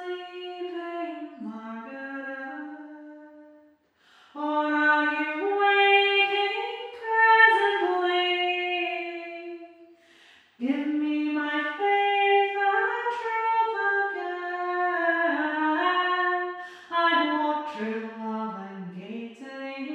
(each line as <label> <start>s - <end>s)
singing the Border Ballad 4.3s - 9.8s
singing the Border Ballad 10.6s - 19.9s